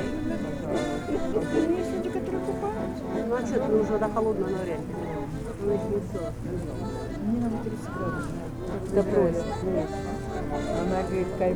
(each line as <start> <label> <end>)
0.0 people 11.5